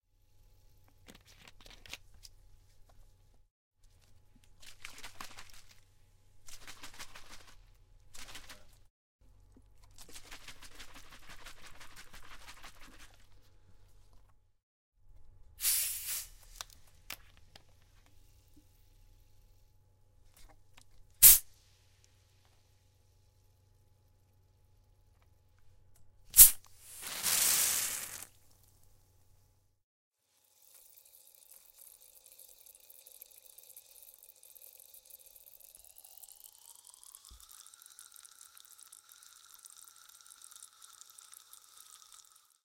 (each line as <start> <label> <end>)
4.1 shaking a bottle of soda water 8.9
9.8 shaking a bottle of soda water 13.6
26.3 opening it with a fizzling noise 28.6
26.4 shaking a bottle of soda water 28.4